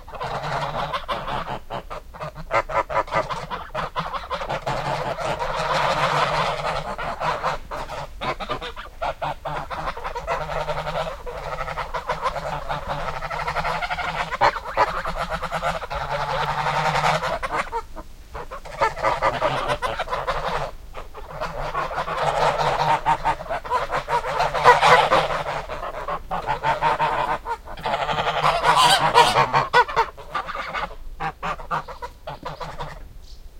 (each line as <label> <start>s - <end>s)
Geese honking 0.0s - 33.1s